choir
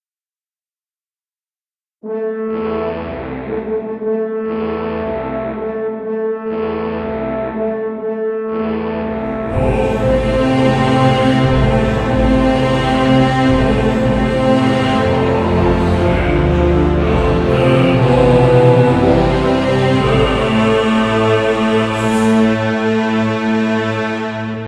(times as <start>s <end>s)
9.2s 24.6s